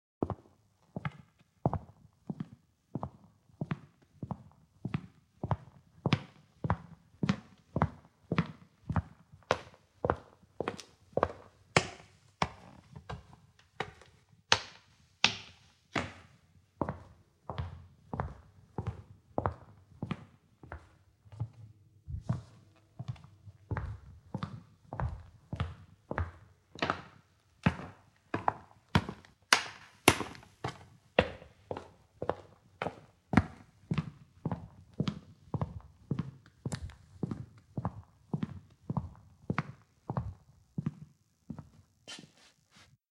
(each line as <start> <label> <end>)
16.8 footsteps on a wooden floor 29.3
20.0 stairs 34.1
30.1 footsteps on a wooden floor 43.0
42.1 shuffling 43.0